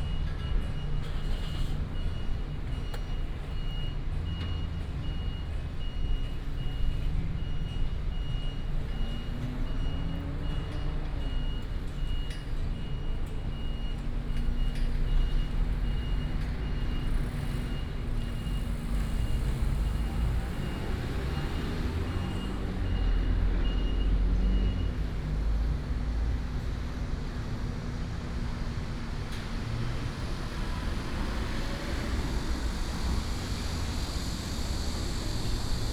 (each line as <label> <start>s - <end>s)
Traffic Sound 0.0s - 35.9s